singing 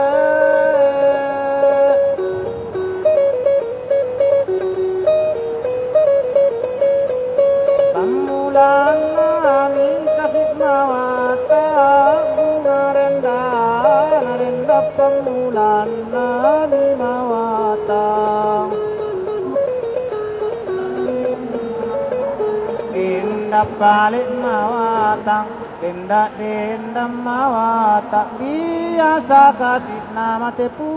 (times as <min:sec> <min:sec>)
0:22.9 0:30.9